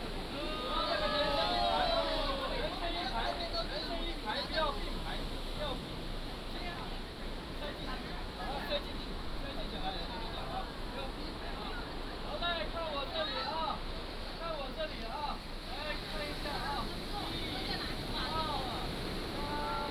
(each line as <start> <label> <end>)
0.0 Tourists 19.9
0.0 waves 19.9